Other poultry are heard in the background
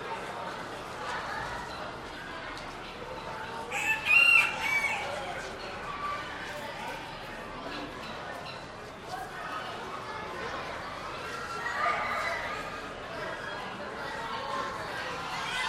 0:03.6 0:06.3

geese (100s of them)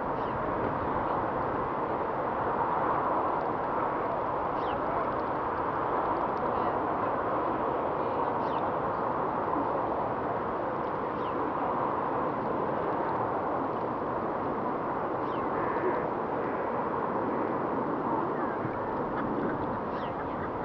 0:18.4 0:20.6

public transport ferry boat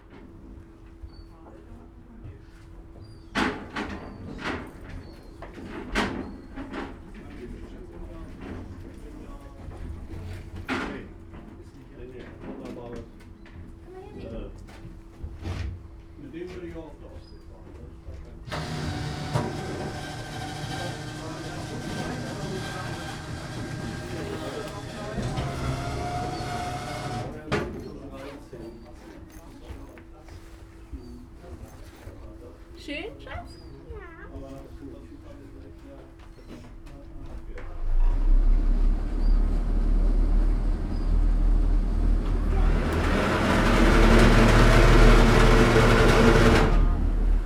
0:17.9 0:29.4, 0:37.0 0:47.4

